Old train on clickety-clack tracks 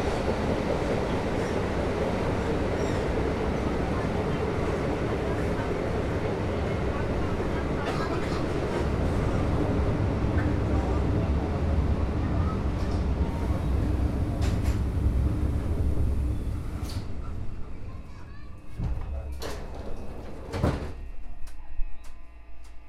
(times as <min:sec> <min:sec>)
0:00.0 0:17.4